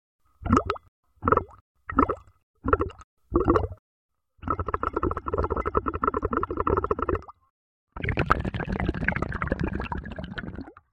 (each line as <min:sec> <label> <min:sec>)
0:00.4 bubbles with drinking straw in glass of water 0:03.8
0:04.4 bubbles with drinking straw in glass of water 0:10.9